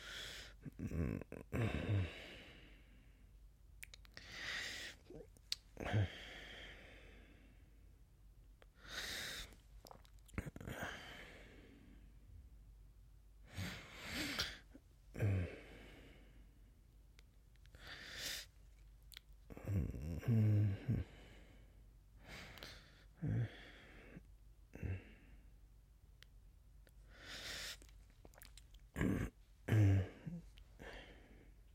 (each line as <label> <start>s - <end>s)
yawn 28.4s - 31.1s